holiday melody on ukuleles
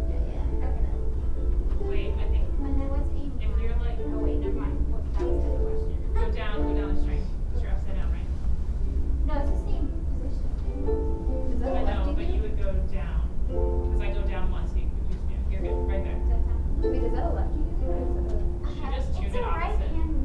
8.8s 12.4s, 13.4s 14.3s, 15.6s 19.4s

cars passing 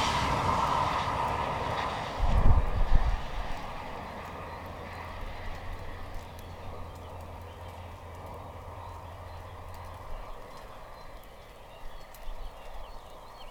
0.0s 9.8s

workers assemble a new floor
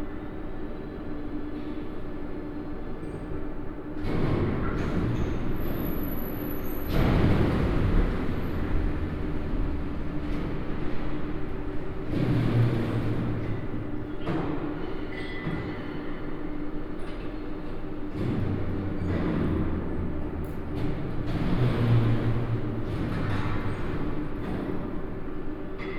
12.1s 16.0s

